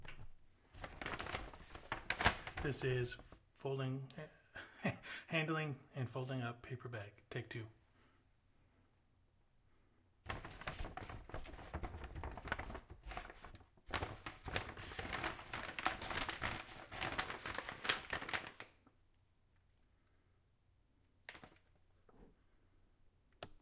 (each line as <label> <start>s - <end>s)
Handling paper bag 0.7s - 3.4s
Handling paper bag 10.3s - 18.8s